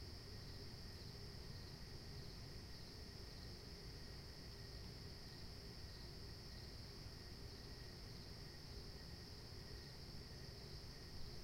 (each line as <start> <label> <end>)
0.0 crickets 11.4